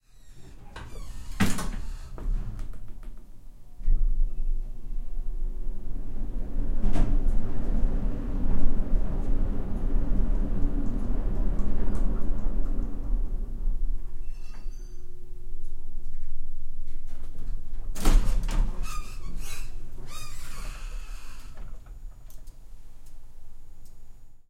elevator descends 0.0 - 3.2
door opens 0.0 - 4.1
door closes 0.1 - 4.1
elevator descends 3.8 - 16.4
elevator descends 17.0 - 24.4
door closes 18.0 - 22.4
door opens 18.0 - 22.6

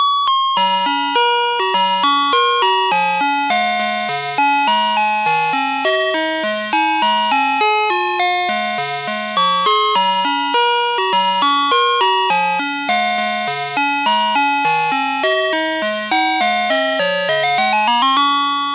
Chime Song 0.0 - 18.7

